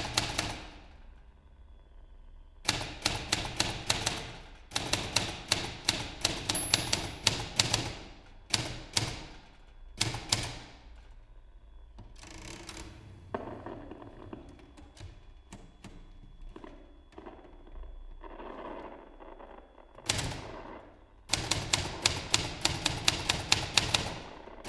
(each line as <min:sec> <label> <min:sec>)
0:00.0 typewriter 0:00.8
0:02.7 typewriter 0:10.8
0:21.3 typewriter 0:24.6